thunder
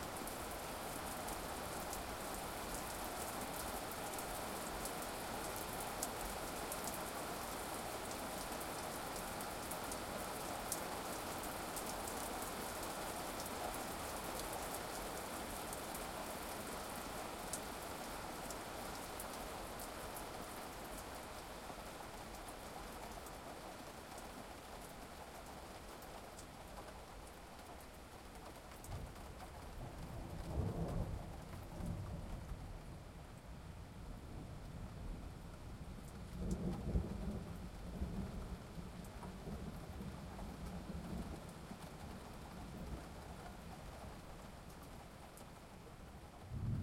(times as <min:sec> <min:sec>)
0:46.4 0:46.8